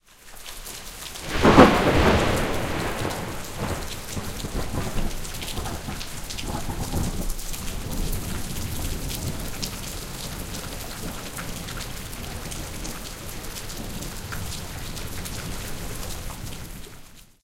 rain 0.0 - 17.4
thunderclap 1.2 - 12.9

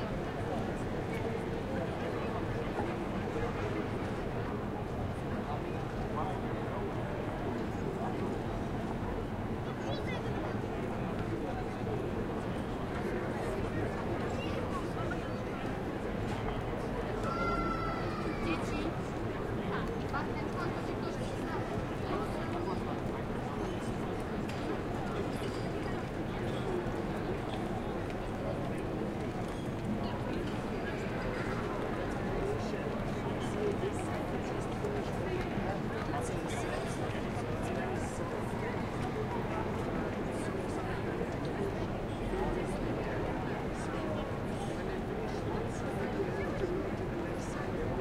people 0.0 - 48.0

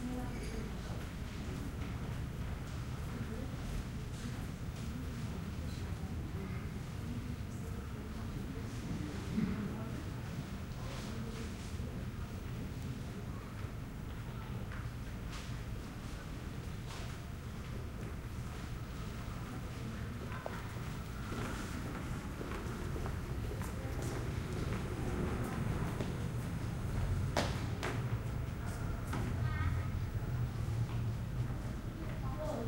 people passing on a hard floor 13.3 - 32.6
passing conversations 20.2 - 32.6

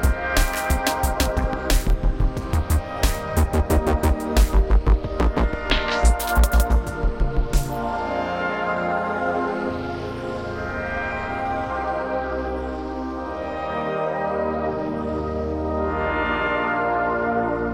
driving bass 0.0 - 7.9
drums 0.0 - 7.9
Drifting ambient pads 0.0 - 8.3

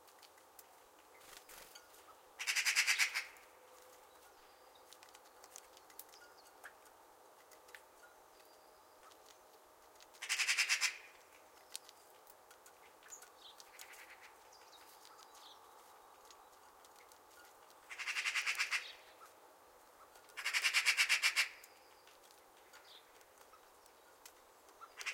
Magpie 2.4 - 3.4
Magpie 10.2 - 11.2
Magpie 17.9 - 19.0
Magpie 20.0 - 21.7

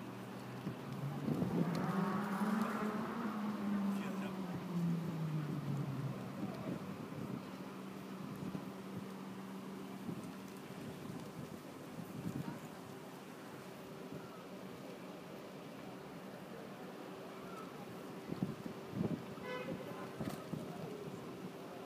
people 15.6 - 18.7
people 19.4 - 21.8

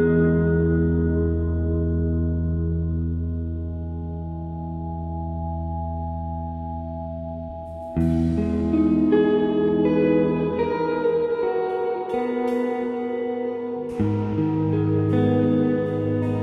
very long guitar intro 0.0 - 16.4
drums 7.7 - 10.6
drums 12.1 - 16.4

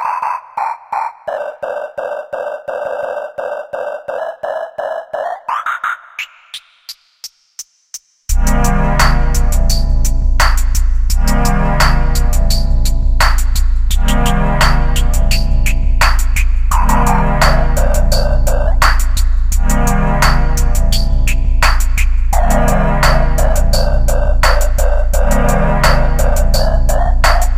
Synth 8.3 - 10.4
Synth 11.1 - 13.0
Synth 14.0 - 27.5

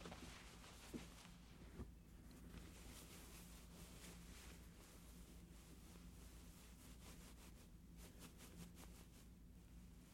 Different cloth passes 0.0 - 7.1

